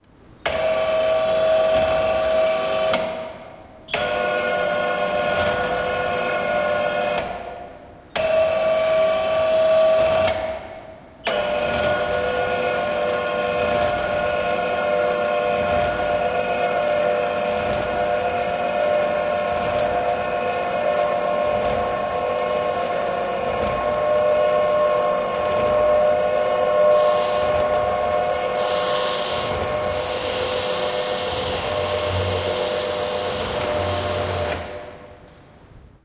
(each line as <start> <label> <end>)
18.7 projector screen moving 35.0